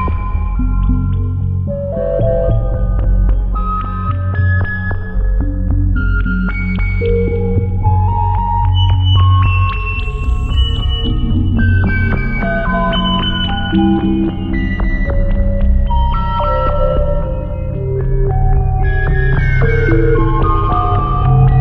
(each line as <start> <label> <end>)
0.0 dark ambient composition 21.6